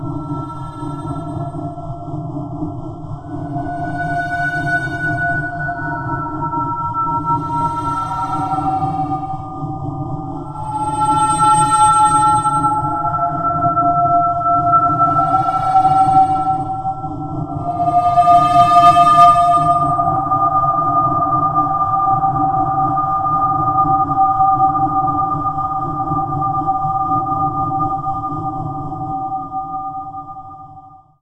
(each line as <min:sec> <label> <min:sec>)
0:00.0 Drone 0:21.8
0:03.3 old mystic Engine 0:09.8